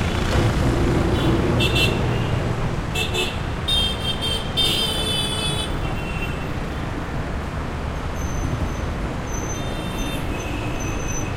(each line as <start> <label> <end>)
0.0 motorcycles 3.9
0.0 vehicles 11.3